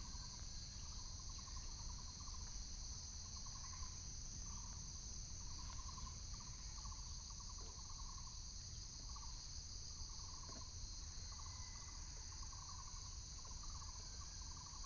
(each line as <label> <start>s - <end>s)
Insects sound 0.0s - 14.8s